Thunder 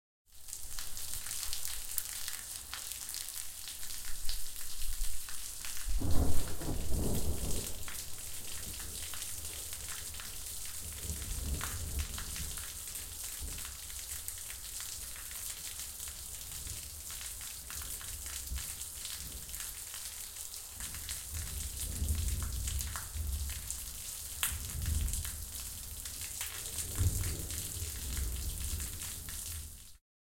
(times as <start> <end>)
5.9 10.0, 21.6 23.6, 24.5 25.3, 26.6 29.0